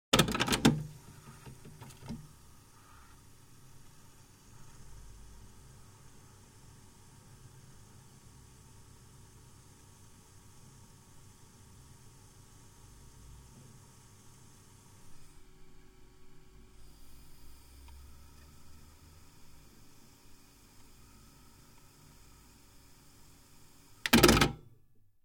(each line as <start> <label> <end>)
0.1 cassette deck, playing an audio cassette 4.8
11.0 cassette deck, playing an audio cassette 24.7